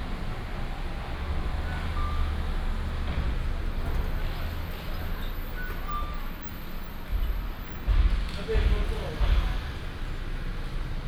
Traffic sound 0:00.0 - 0:11.0

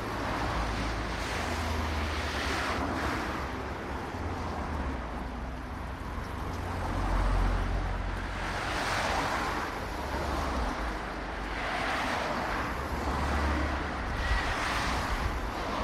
traffic that thundered over our heads 0:00.0 - 0:15.8

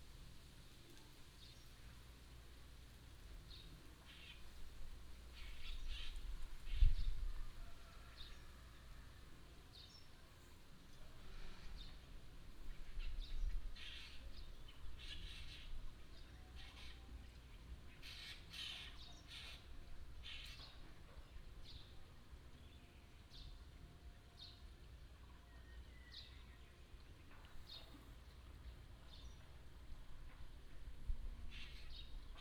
Bird cry 0:18.0 - 0:20.9

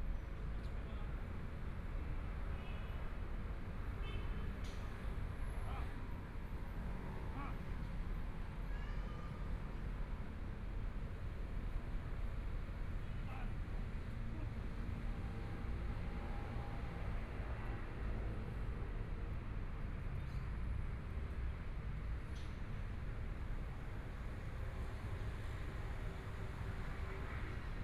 Traffic Sound 0:00.0 - 0:27.8

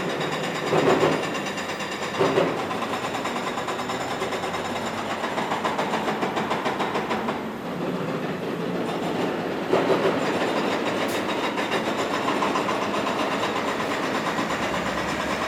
Loud construction site 0:00.0 - 0:15.4

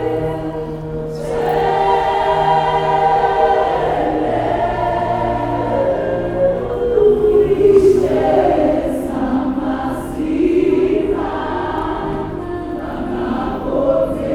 gospel sounds are filling the street 0:00.0 - 0:14.3

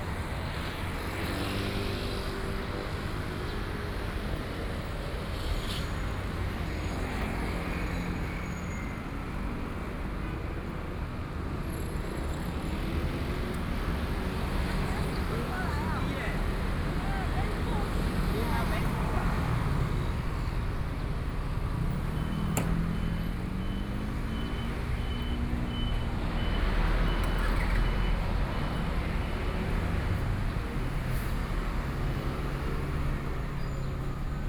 Traffic Sound 0:00.0 - 0:34.4

